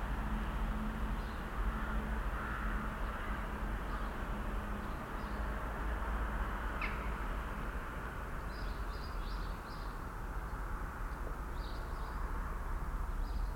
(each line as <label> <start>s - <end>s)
traffic from the near main road 0.0s - 13.5s